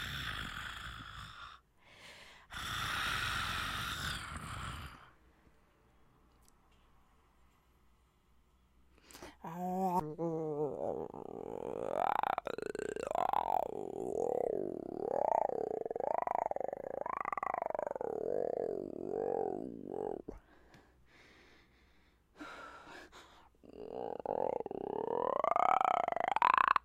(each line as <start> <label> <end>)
0.0 growls 1.6
0.0 roar 1.6
0.0 snarls 1.6
2.5 growls 5.2
2.5 snarls 5.2
2.5 roar 5.2
9.4 snarls 20.4
9.5 growls 20.3
10.5 roar 20.3
23.6 growls 26.8
23.6 snarls 26.8